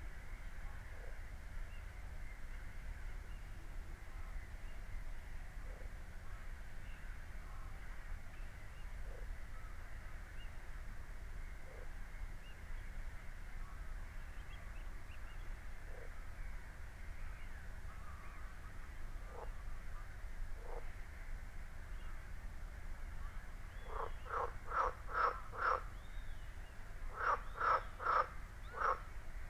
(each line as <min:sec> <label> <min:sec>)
0:19.3 frogs 0:19.6
0:23.8 frogs 0:25.9
0:27.1 frogs 0:29.1